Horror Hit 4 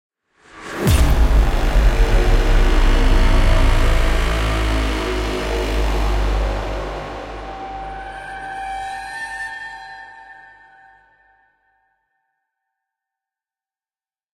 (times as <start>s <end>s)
0.8s 9.1s